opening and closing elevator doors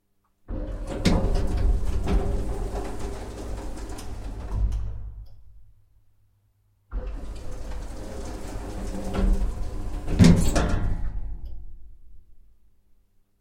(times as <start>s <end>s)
0.5s 5.7s, 6.9s 12.0s